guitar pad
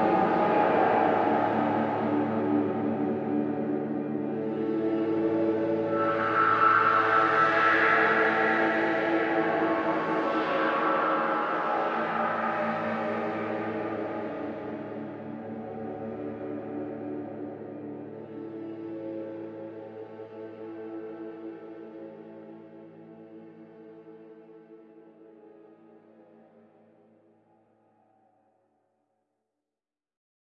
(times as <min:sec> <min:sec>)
0:00.0 0:23.1